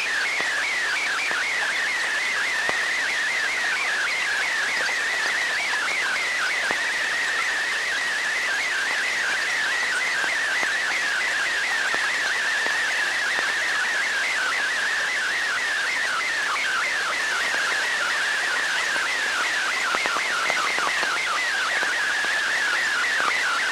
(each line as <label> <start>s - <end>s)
data transmissions over shortwave or HF radio frequencies 0.0s - 23.7s